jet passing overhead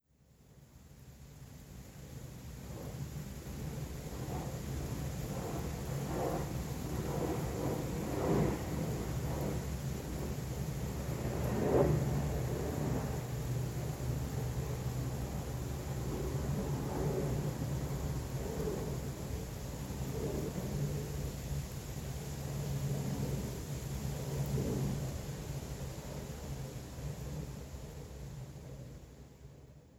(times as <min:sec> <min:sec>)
0:04.1 0:21.3